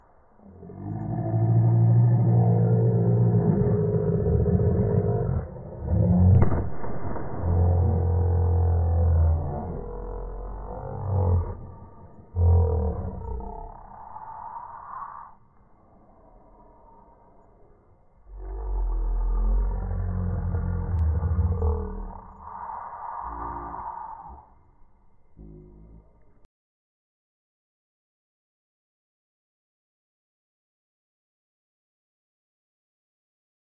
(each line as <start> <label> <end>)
0.0 yelling in slow motion 26.5